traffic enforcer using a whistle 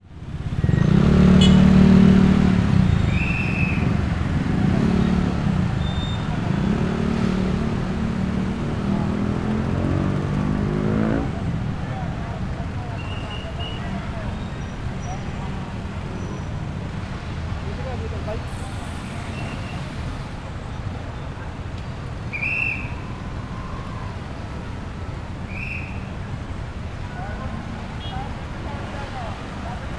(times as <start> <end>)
0.5 1.9, 2.7 6.9, 12.9 15.2, 22.2 26.3